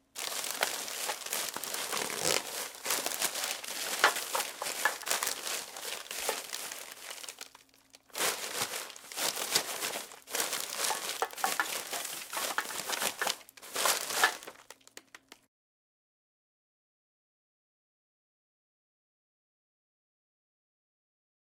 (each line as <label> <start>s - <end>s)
sorting through a trash can 0.0s - 15.4s